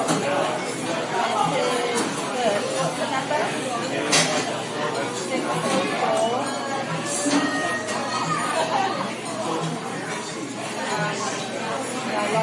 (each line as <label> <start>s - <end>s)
crowd 0.0s - 12.4s